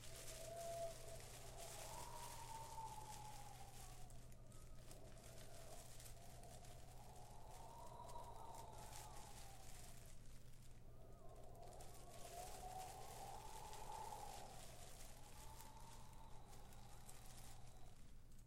Fake windy noise 0:00.0 - 0:18.4

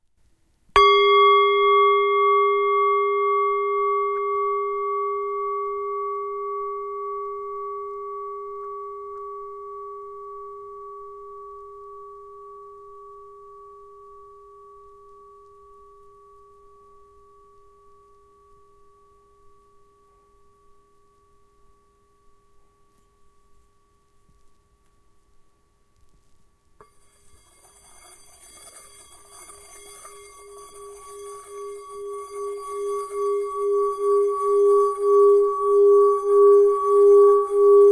singing bowl 0:00.8 - 0:24.8
singing bowl 0:26.8 - 0:37.9

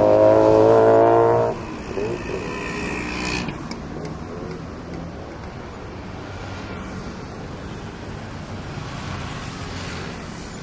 heavy traffic 0:00.0 - 0:10.6
motorcycles and mopeds pass by 0:00.0 - 0:10.6

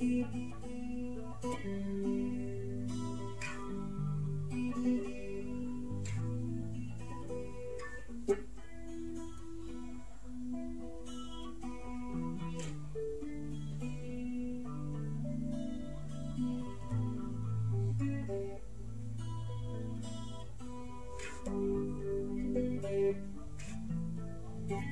Uneek guitar experiments 0:00.0 - 0:24.9

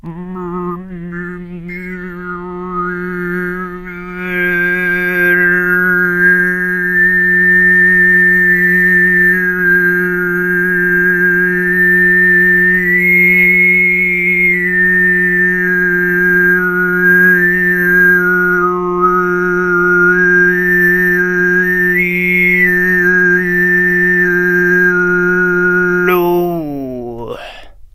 high + overtone singing 0:00.0 - 0:27.9

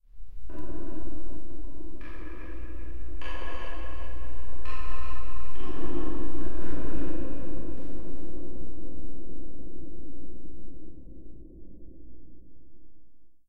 percussion 0:00.4 - 0:08.5

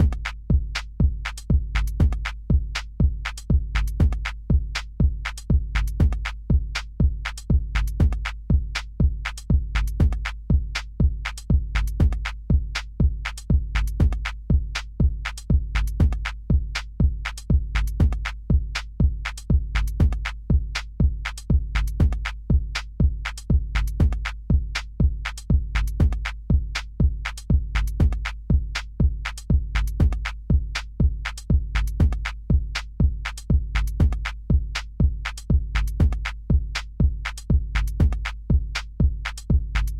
Drum loop 0:00.0 - 0:39.9

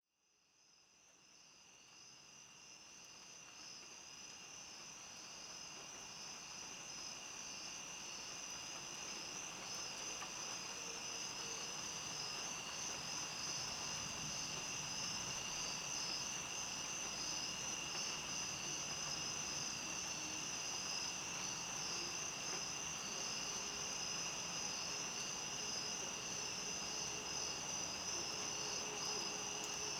cricket chirps 0:00.5 - 0:29.9
wind 0:00.8 - 0:29.9
wind driven rain 0:06.1 - 0:29.9

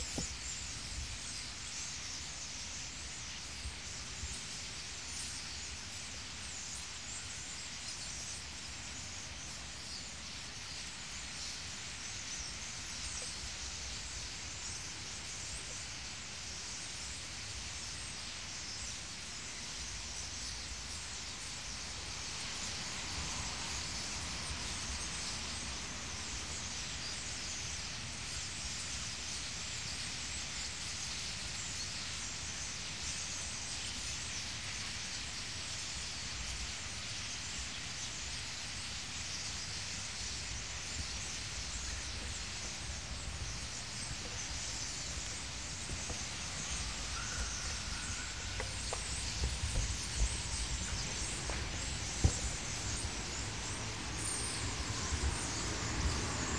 thousand of birds singing 0:00.0 - 0:56.5

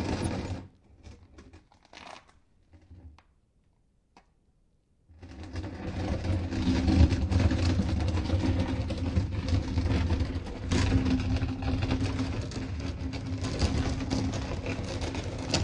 Dragging different kinds of stones, concrete blocks 0:05.3 - 0:15.6

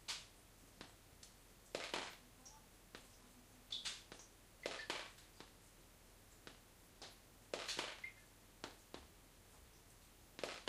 rain leaking through the glass roof 0:00.0 - 0:10.6

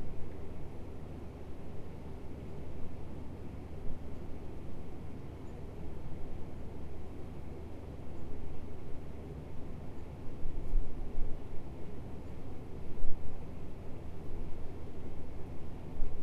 ceiling mount office air conditioner hum 0:00.0 - 0:16.2

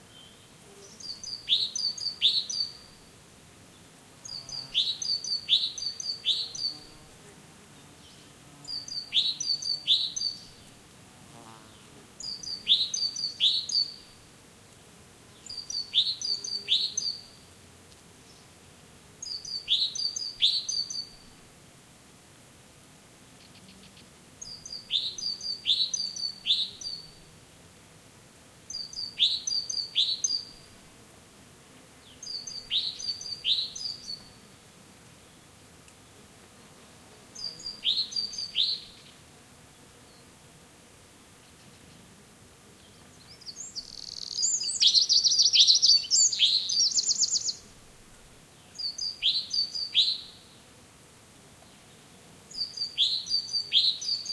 insects buzzing 0:00.0 - 0:54.3
different birds singing 0:37.4 - 0:38.8
different birds singing 0:42.9 - 0:47.6

